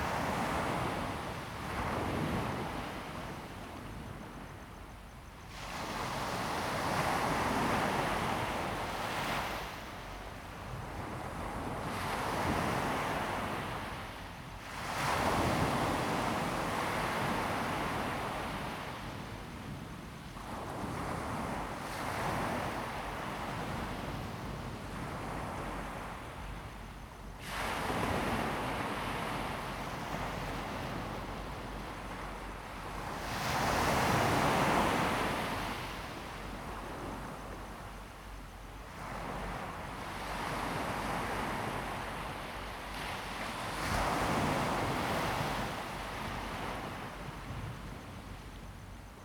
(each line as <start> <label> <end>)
0.0 waves 3.7
5.6 waves 49.2